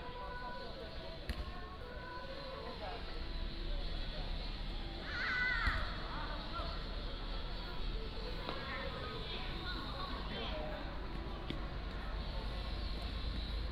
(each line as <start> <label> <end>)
6.1 Traffic Sound 13.7